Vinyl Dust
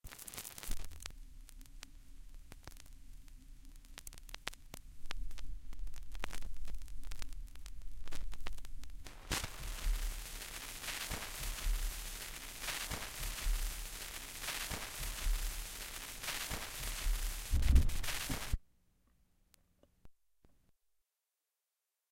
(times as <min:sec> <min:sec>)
0:03.9 0:18.6